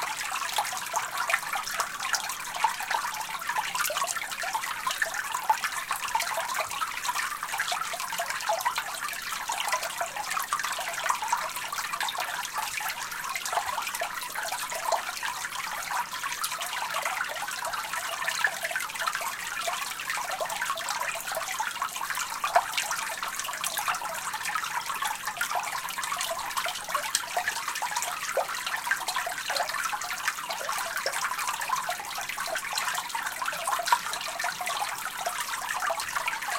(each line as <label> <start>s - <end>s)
stream recorded flowing under a bridge 0.0s - 36.5s